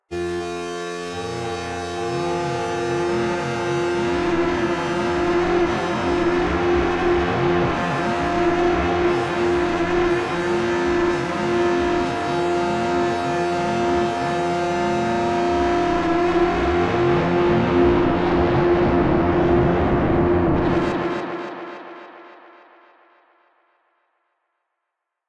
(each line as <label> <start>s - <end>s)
strong, aggressive electronic growl/scream 2.4s - 21.4s